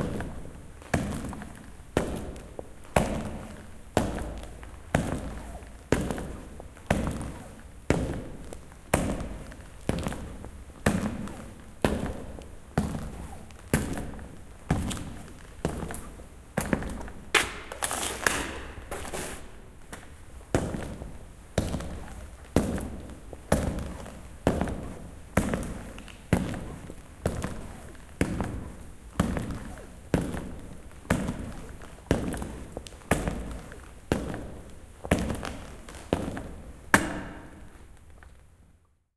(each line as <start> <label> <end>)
0.0 Echoing steps in a hall back and forth 39.0